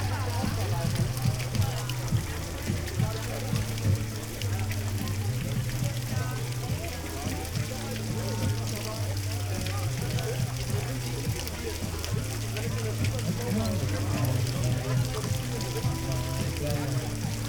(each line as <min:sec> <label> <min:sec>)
0:00.0 metal sculpture fountain 0:17.4
0:00.0 one man concert in the background 0:17.4